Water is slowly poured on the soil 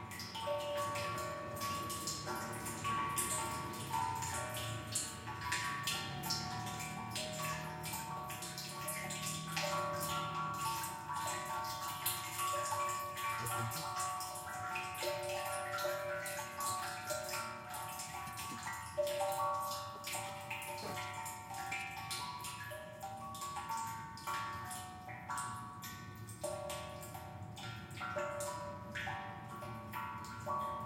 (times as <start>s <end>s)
0.0s 24.4s